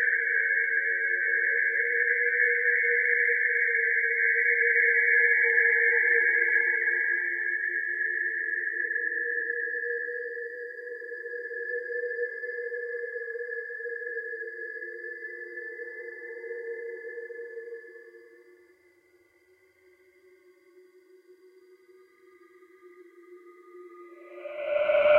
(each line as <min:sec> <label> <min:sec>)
0:24.1 scary noises 0:25.1